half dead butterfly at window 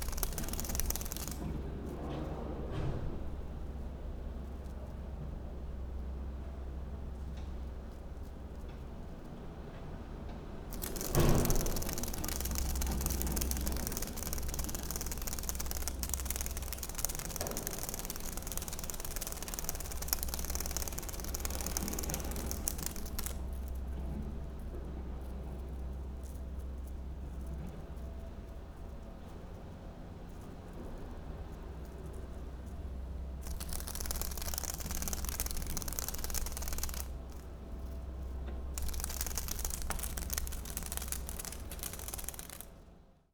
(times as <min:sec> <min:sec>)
0:00.0 0:01.6, 0:10.7 0:23.7, 0:38.8 0:42.7